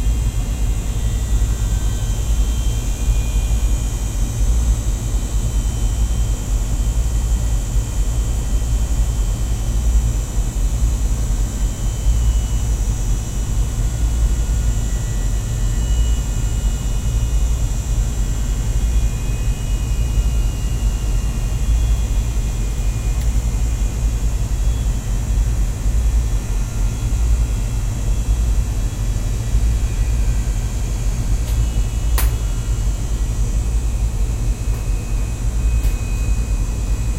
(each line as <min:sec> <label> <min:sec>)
0:00.0 Air conditioner device 0:37.1